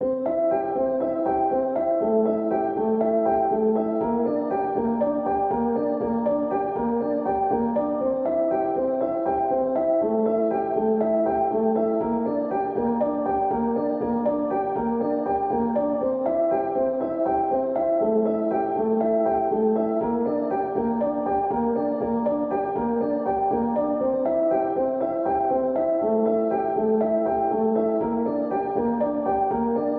0.0s piano 29.9s

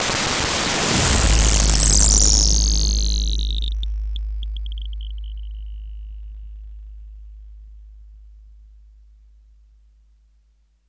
0.0s glitch 7.1s
0.7s big bass sound 10.6s

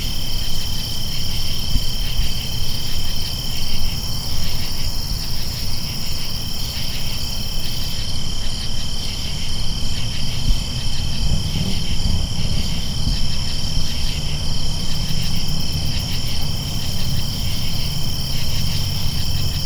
0.0s background car noises 19.6s
0.0s crickets 19.6s

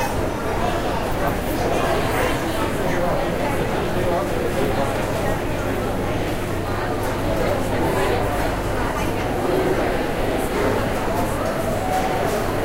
0.0s Walking around a Noisy Food Food Hall 12.6s
0.0s people 12.6s

